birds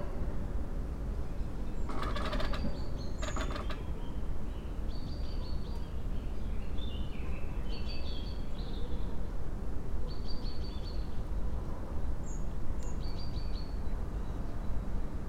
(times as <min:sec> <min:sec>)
0:01.5 0:09.0